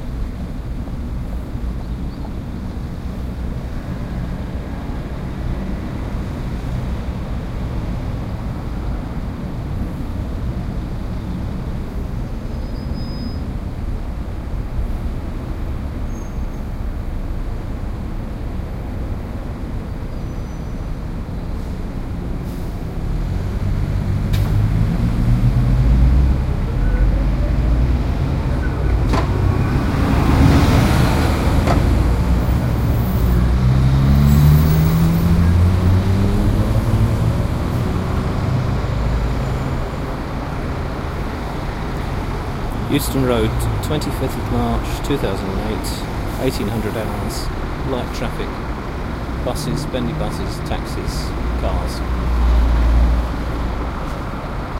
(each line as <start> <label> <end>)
0.0 Traffic 54.7
42.8 location voice tag 48.6
49.4 location voice tag 52.1